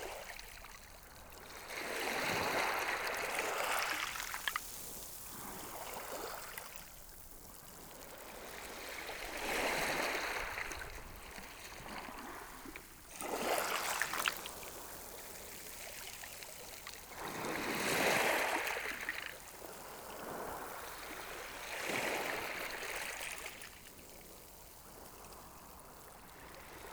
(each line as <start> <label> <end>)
0.0 waves lapping on the pebbles 26.9